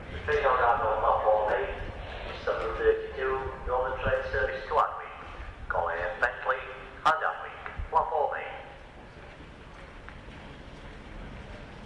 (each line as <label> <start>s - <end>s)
Station announcement 0.0s - 9.0s
train 0.0s - 11.8s